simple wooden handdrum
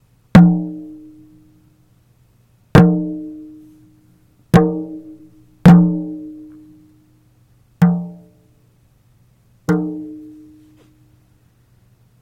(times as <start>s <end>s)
0.3s 1.6s, 2.7s 7.0s, 7.8s 8.6s, 9.6s 11.2s